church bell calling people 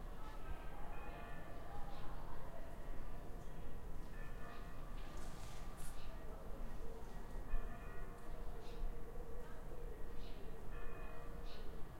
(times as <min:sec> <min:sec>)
0:00.2 0:01.9, 0:03.6 0:05.0, 0:07.4 0:08.9, 0:10.6 0:11.7